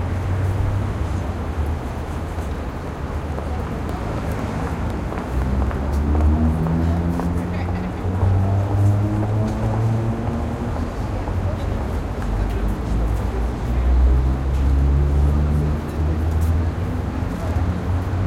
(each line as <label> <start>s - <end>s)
pedestrians entering subway station 0.0s - 18.2s
traffic 0.0s - 18.2s